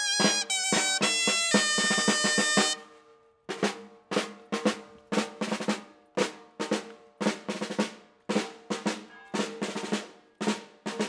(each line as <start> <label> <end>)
0.0 jeunes musiciens parcourent les rues 2.8